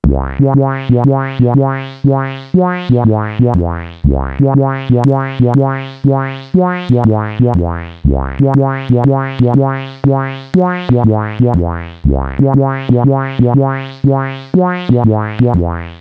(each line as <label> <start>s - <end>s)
synth 0.0s - 16.0s